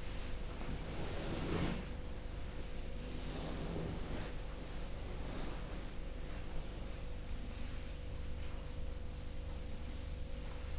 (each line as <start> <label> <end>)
0.0 buzz of four electric heaters overhead 10.7
0.0 rustling of clothing 10.7
4.0 walking meditation 10.7